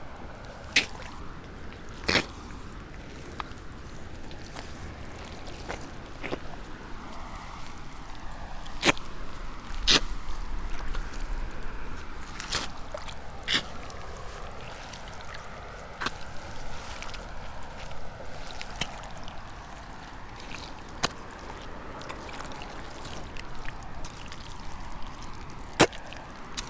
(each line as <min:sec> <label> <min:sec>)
0:00.0 feet, gravel-stones, mud 0:26.6
0:00.0 river 0:26.6